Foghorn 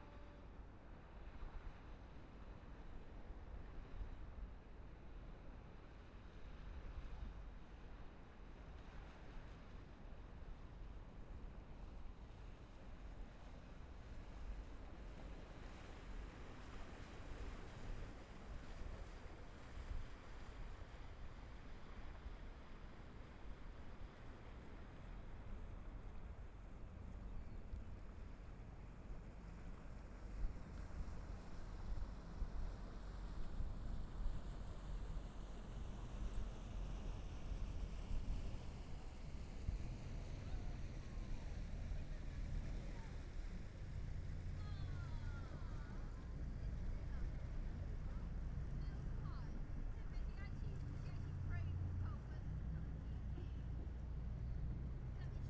0:00.0 0:00.7

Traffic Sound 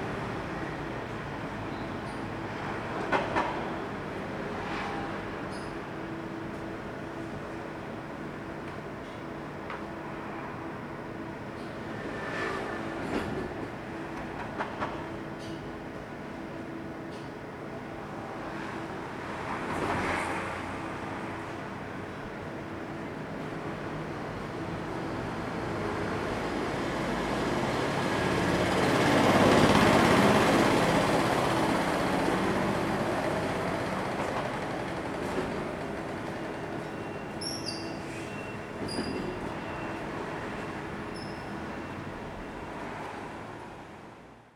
0:08.8 0:16.1, 0:17.1 0:44.5

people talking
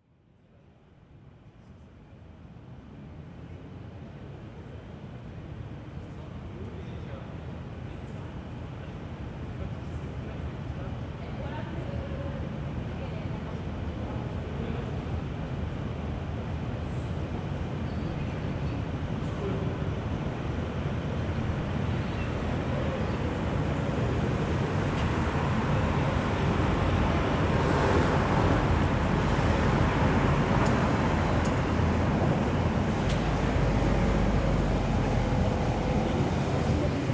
0:09.6 0:15.1

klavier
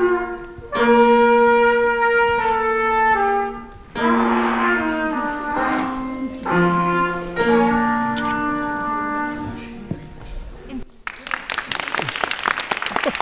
0:00.0 0:09.9

